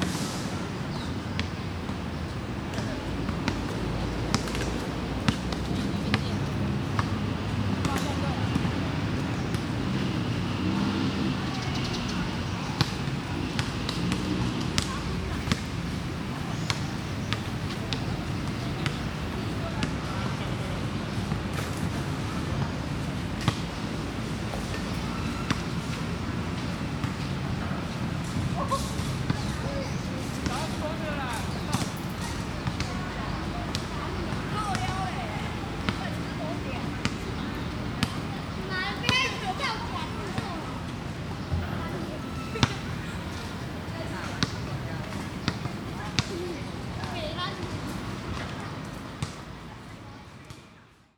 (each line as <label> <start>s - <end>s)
walking in the Park 3.6s - 23.4s
walking in the Park 38.2s - 49.8s